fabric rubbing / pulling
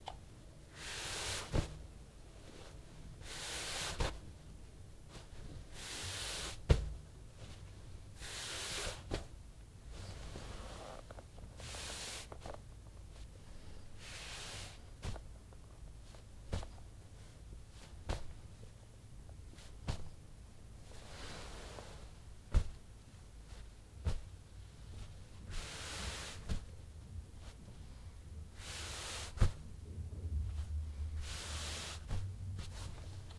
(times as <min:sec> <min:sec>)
0:10.0 0:12.3, 0:30.6 0:33.3